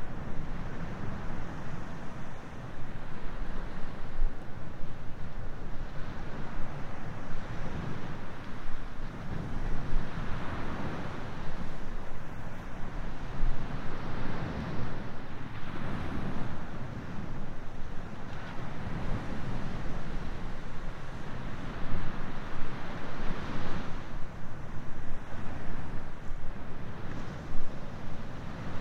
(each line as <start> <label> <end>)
0.0 Ocean waves 28.8
0.0 Wind 28.8